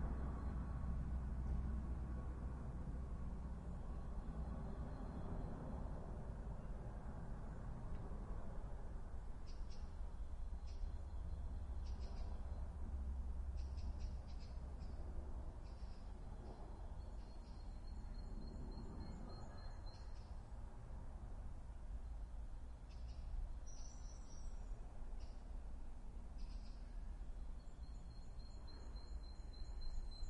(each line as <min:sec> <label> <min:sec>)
0:00.0 Two helicopters flying over a backyard 0:09.4
0:17.9 Two helicopters flying over a backyard 0:19.5